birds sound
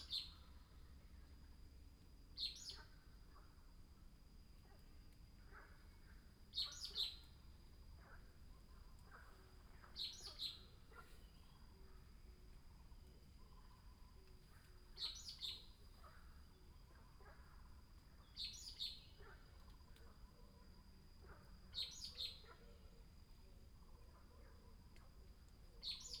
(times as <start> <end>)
2.4 3.4, 6.5 7.3, 9.0 11.9, 13.4 20.2, 21.2 22.6, 25.8 26.2